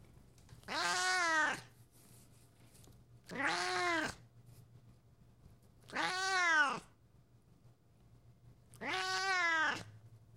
0.7s cat meowing 1.7s
3.3s cat meowing 4.2s
5.9s cat meowing 6.9s
8.7s cat meowing 9.9s

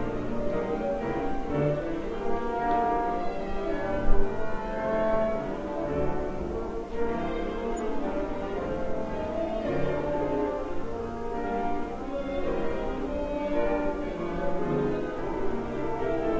0.0s music 16.3s

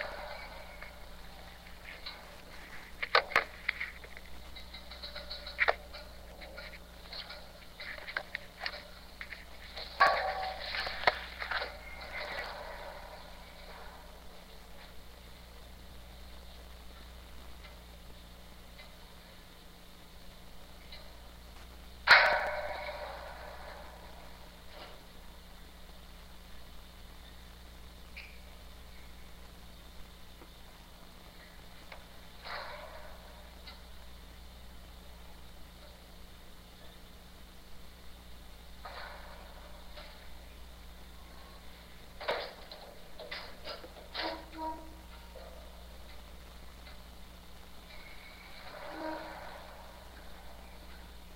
0.0s heaters at my school make some very good spontaneous noises 51.3s

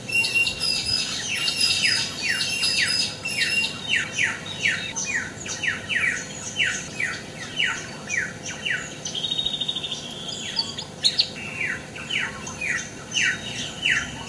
0.0s morning birds 14.2s

